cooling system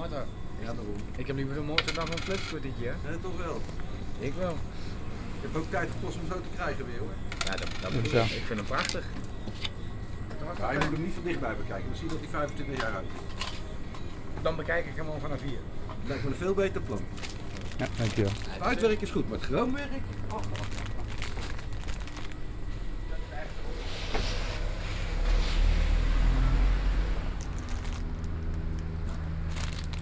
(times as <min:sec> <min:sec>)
0:14.5 0:30.0